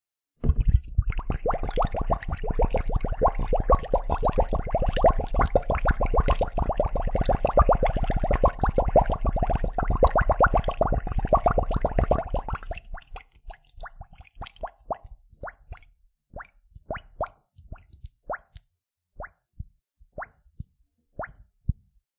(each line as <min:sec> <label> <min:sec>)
0:00.4 water bubbles in bottle 0:18.5